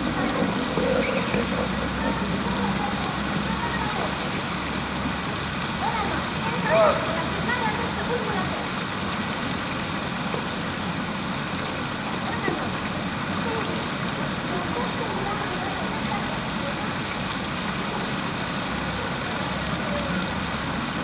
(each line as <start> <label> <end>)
0.0 doves 5.2
0.0 passersby 21.0